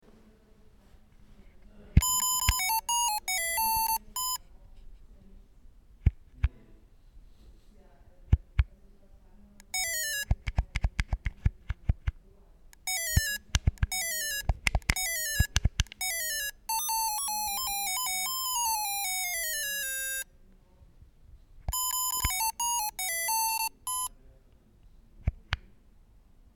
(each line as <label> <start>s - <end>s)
plastic mcdonalds sega game 2.0s - 4.4s
plastic mcdonalds sega game 9.6s - 11.2s
plastic mcdonalds sega game 12.8s - 20.2s
plastic mcdonalds sega game 21.7s - 24.1s